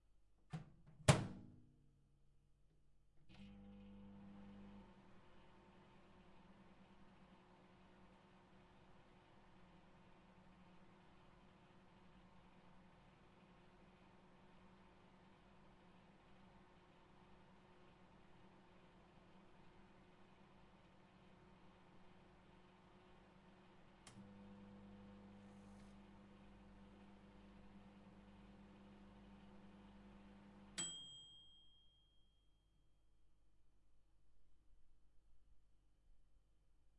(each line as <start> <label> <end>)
3.2 microwave oven to heat 32.1